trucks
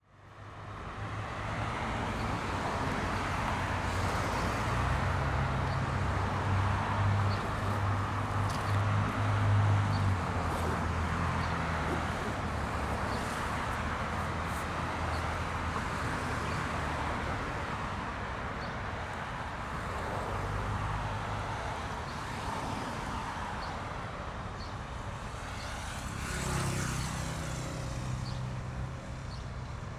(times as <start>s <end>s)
0.1s 18.2s